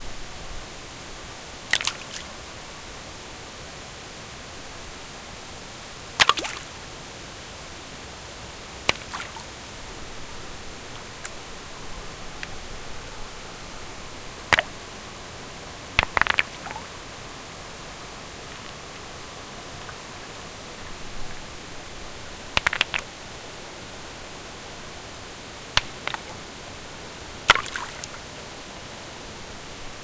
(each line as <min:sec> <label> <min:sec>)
0:00.0 waterfall 0:30.0
0:16.0 stone on stone 0:16.8
0:22.6 stone on stone 0:23.1
0:25.8 stone on stone 0:26.4